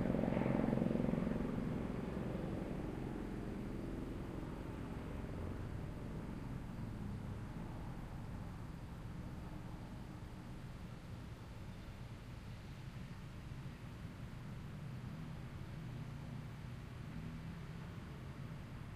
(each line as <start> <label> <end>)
0.0 helicopter passes right overhead 12.1
0.0 faint sound of daytime crickets 18.9